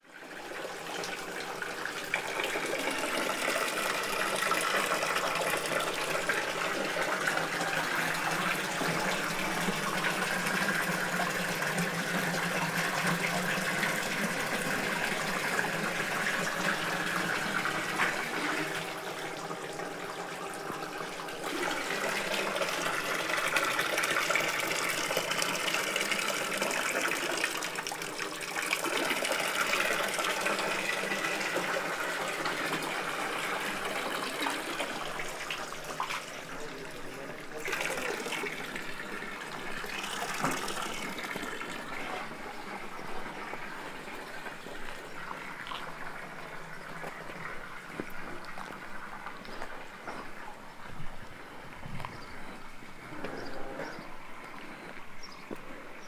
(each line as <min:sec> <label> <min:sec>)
0:41.2 walk 0:56.0